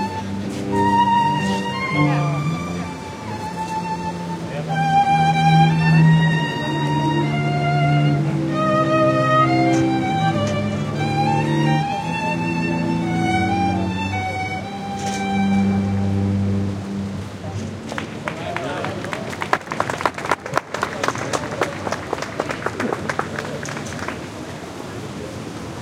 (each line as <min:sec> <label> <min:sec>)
0:00.0 ensemble of strings plays a short musical piece 0:18.0
0:00.0 street noise 0:25.8
0:14.0 rumble from a fountain 0:25.8
0:17.9 applause 0:24.5